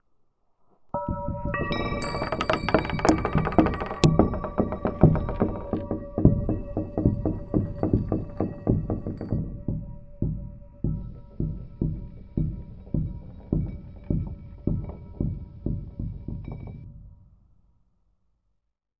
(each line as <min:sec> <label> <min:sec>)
0:01.0 Wind chimes 0:09.0
0:01.0 creaking wood 0:16.8